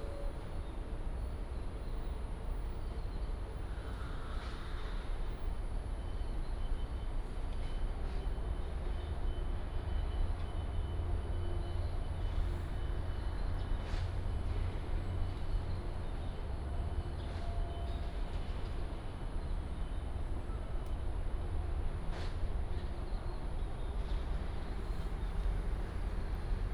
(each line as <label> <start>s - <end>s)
traffic sound 6.9s - 26.7s